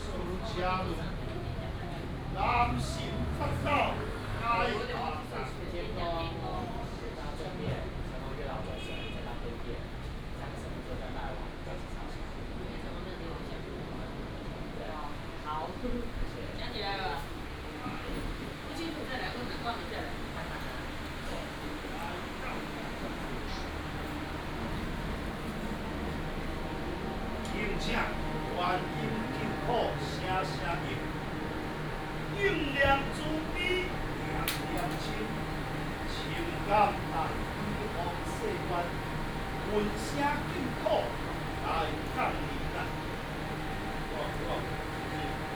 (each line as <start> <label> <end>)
0.0 Traffic sound 7.3
15.0 conduct a religious rite 45.5
16.6 Traffic sound 45.5